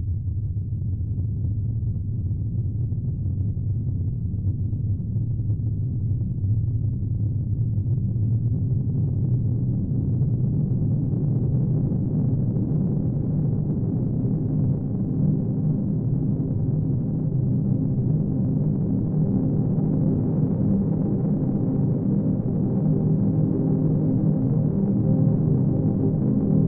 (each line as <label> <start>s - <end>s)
underlying rhythm from a slow lfo 0.2s - 26.6s